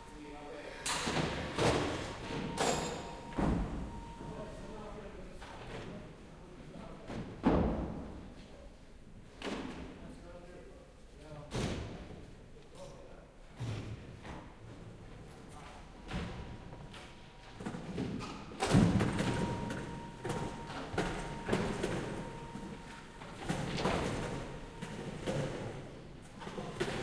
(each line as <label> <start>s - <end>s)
sounds produced by people working 0.0s - 10.4s
voices of the workers 0.0s - 7.7s
sounds produced by people working 11.0s - 27.0s
voices of the workers 19.0s - 27.0s